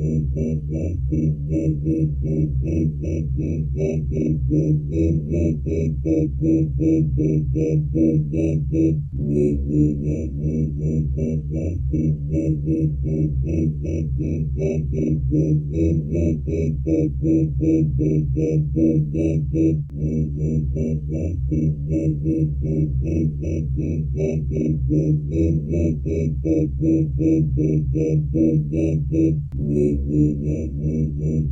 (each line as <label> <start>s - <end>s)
Humming Magical Orb 9.1s - 17.6s
Humming Magical Orb 29.6s - 31.5s